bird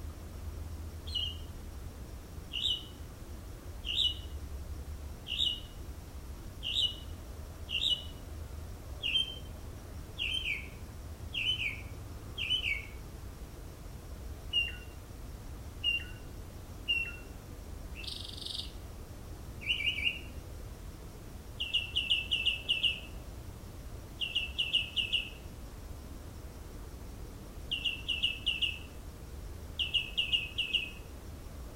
1.0 1.5, 2.5 3.0, 3.8 4.4, 5.2 5.8, 6.6 7.1, 7.7 8.2, 9.0 9.5, 10.2 13.0, 14.5 15.0, 15.8 16.3, 16.9 17.4, 18.0 18.8, 19.6 20.4, 21.6 23.2, 24.2 25.5, 27.7 29.0, 29.8 31.1

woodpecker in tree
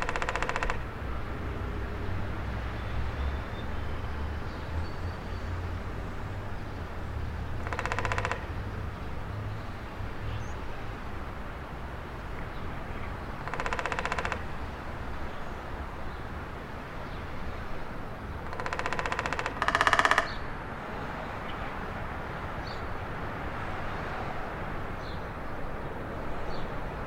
0.0 1.0, 7.4 10.7, 12.4 16.2, 17.8 20.5

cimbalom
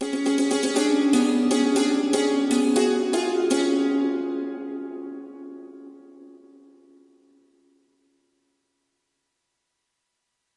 0.0 7.1

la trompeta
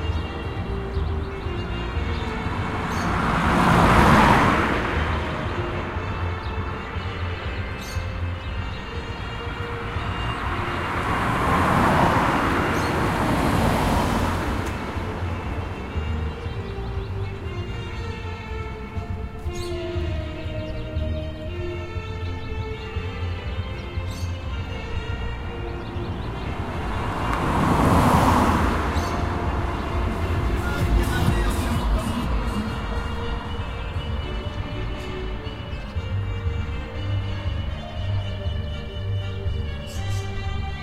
21.5 40.1

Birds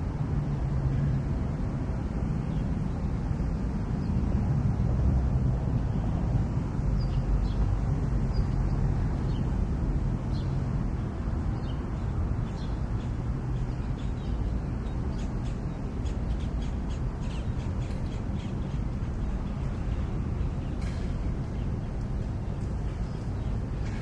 10.2 24.0

